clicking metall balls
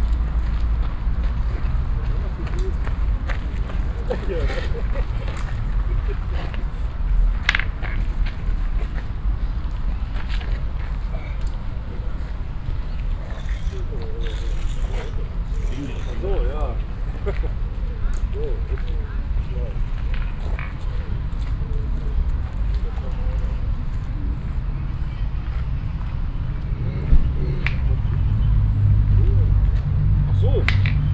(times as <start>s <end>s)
2.5s 3.4s, 5.0s 5.9s, 7.4s 8.0s, 11.4s 11.7s, 13.4s 16.2s, 18.0s 18.8s, 19.8s 21.2s, 27.5s 28.2s, 30.7s 31.1s